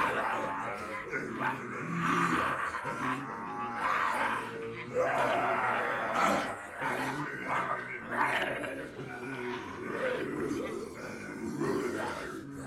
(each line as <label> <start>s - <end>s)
people pretending to be zombies 0.0s - 12.6s